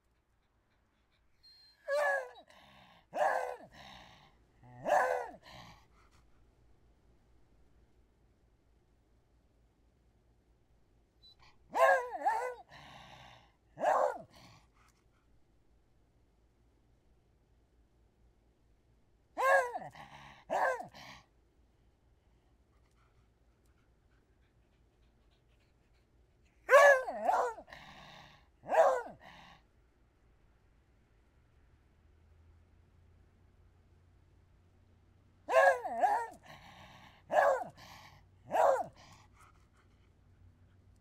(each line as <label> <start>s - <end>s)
Old beagle mutt barking and whining 0.1s - 6.1s
Old beagle mutt barking and whining 11.2s - 14.9s
Old beagle mutt barking and whining 19.4s - 21.2s
Old beagle mutt barking and whining 23.6s - 29.6s
Old beagle mutt barking and whining 35.5s - 39.8s